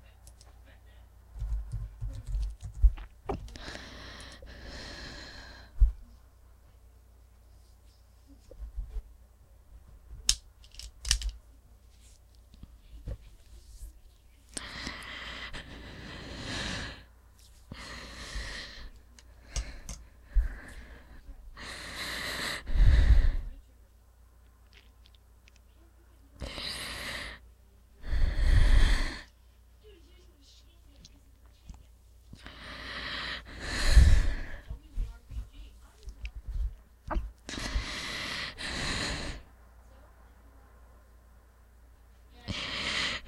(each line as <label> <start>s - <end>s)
breathing 3.5s - 6.0s
breathing 14.5s - 17.1s
breathing 17.7s - 23.5s
breathing 28.0s - 29.4s
breathing 32.4s - 34.8s
breathing 37.5s - 39.5s
breathing 42.5s - 43.2s